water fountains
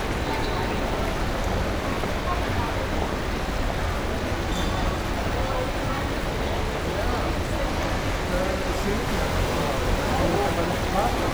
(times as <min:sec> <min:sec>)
0:06.4 0:11.3